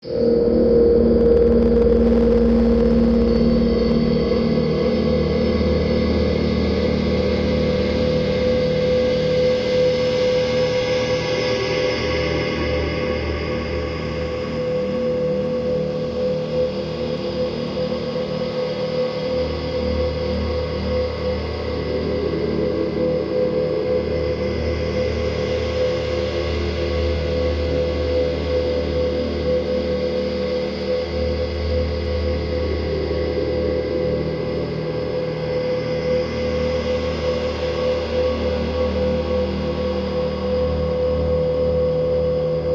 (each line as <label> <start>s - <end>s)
drone 0.0s - 42.7s